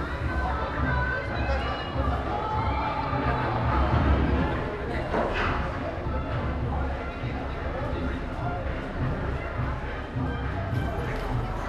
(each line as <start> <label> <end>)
0.0 marching 11.6